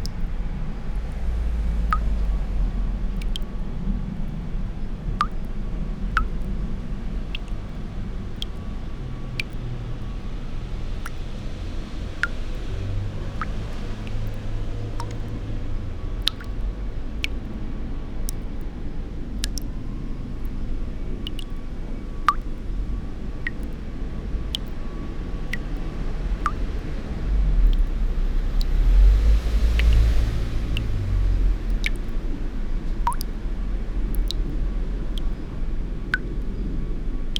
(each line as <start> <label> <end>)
0.0 drops of water 37.3